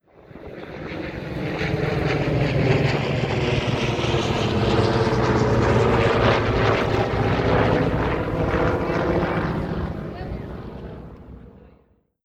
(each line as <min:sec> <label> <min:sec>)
0:00.1 Corsair and a Skyraider passing by 0:11.8